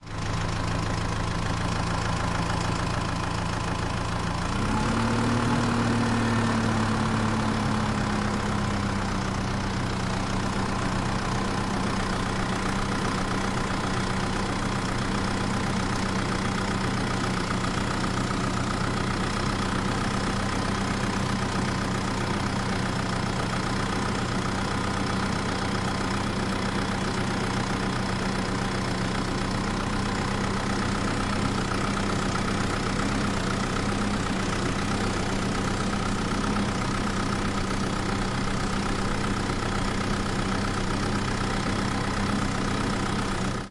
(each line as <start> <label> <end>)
0.0 Tractor Engine 43.7